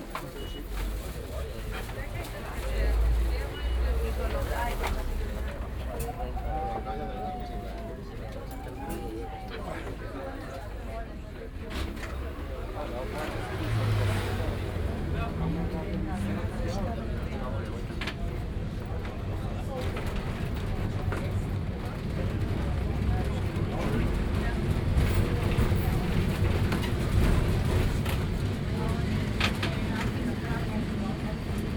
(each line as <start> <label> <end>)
0.0 tram electrico nr.28 while driving through the city 31.7